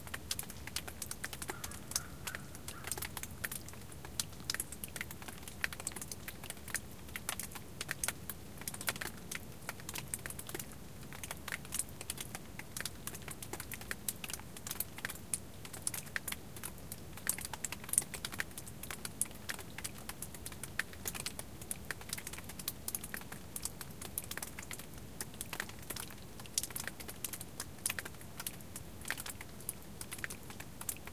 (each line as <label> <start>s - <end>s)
drops of winter's melt-water hitting the rock 0.1s - 7.9s
crow calls 1.5s - 3.0s